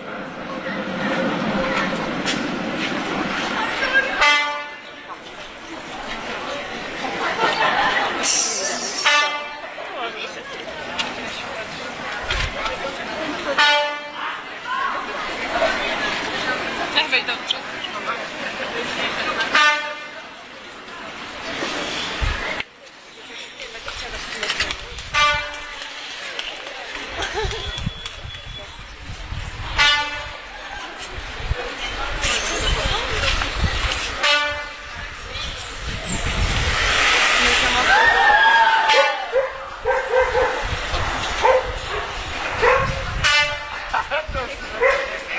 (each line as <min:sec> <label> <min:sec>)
0:00.0 crowd 0:45.3